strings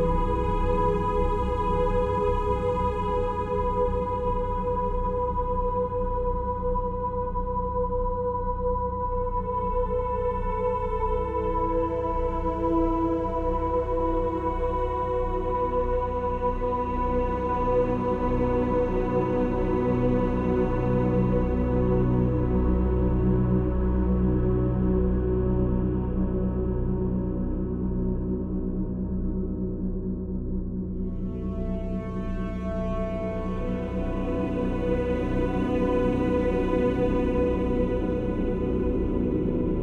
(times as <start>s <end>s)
31.1s 39.8s